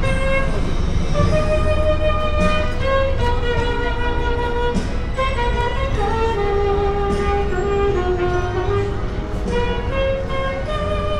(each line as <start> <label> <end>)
0.0 sax player 11.1